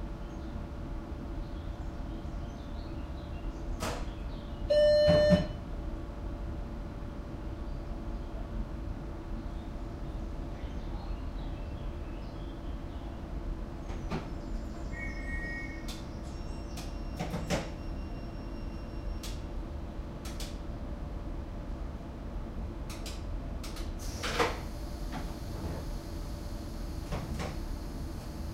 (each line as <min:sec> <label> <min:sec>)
0:13.2 train noises 0:28.5